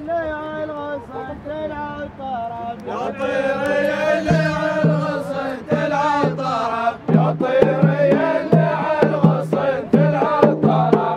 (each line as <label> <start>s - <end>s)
Wedding song 0.0s - 11.1s
Drums 4.2s - 11.1s